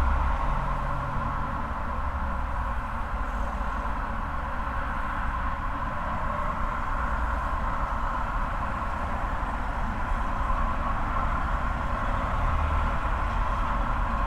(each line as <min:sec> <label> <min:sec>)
0:00.0 resonant drone of the drain pipe 0:14.2
0:00.0 traffic sounds 0:14.2
0:00.0 wind 0:14.2